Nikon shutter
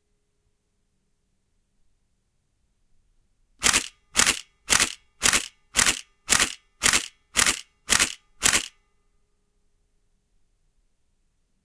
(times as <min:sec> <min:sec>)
0:03.6 0:08.7